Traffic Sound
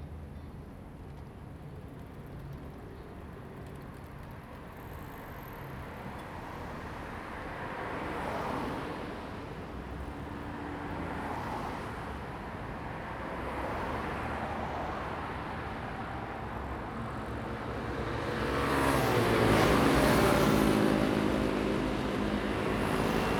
6.9s 23.3s

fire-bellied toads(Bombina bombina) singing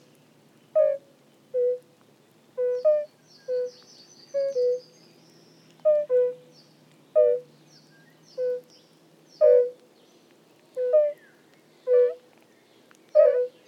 0.7s 1.9s, 2.6s 9.8s, 10.7s 12.3s, 13.1s 13.6s

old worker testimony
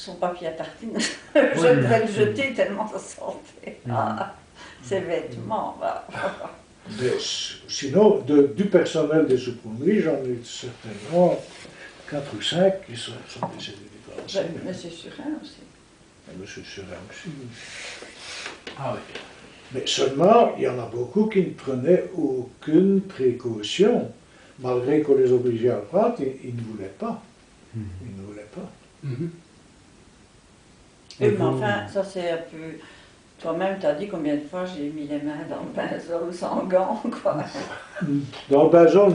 1.5s 2.5s, 4.8s 14.8s

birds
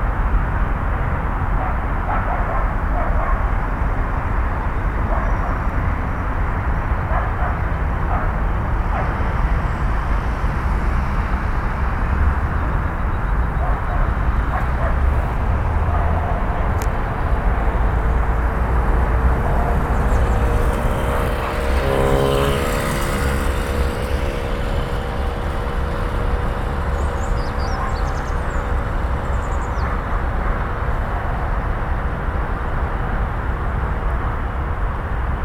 25.0s 31.0s

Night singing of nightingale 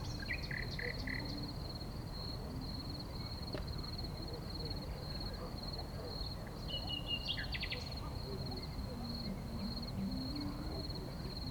0.0s 1.8s, 6.2s 11.5s

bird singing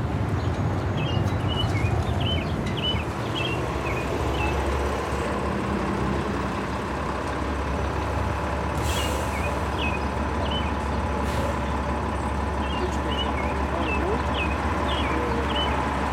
0.4s 4.7s, 9.0s 16.1s

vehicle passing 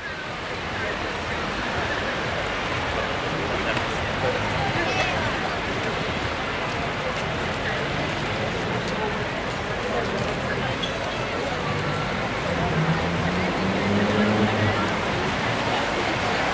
11.6s 16.5s

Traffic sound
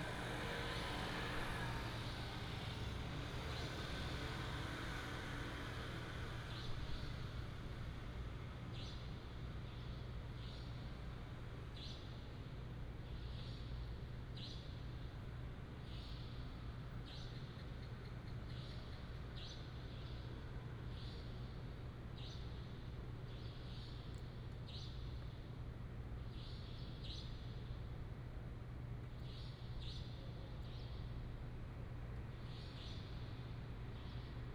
0.0s 8.2s

